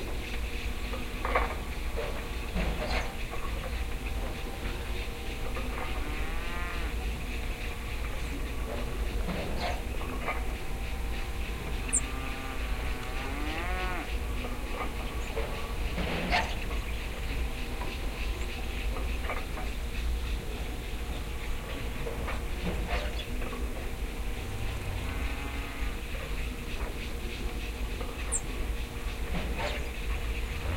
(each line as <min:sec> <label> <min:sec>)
0:00.0 birds 0:30.7
0:05.6 cows 0:07.2
0:08.4 cows 0:16.5
0:22.7 cows 0:26.9